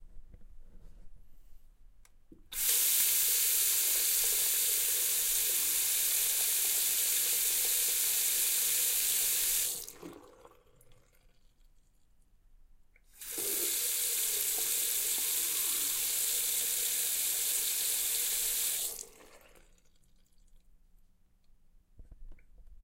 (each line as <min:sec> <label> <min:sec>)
0:02.5 Faucet water running 0:11.6
0:13.1 Faucet water running 0:20.6